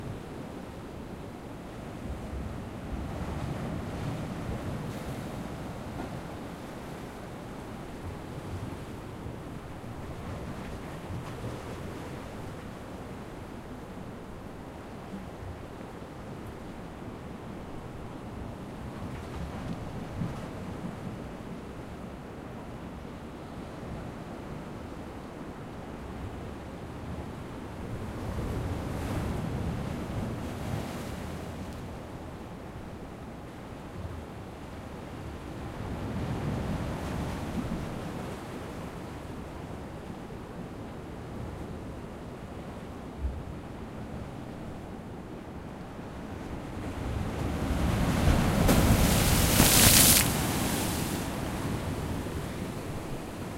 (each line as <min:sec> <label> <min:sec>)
0:48.4 Sea wave frontal hit 0:50.7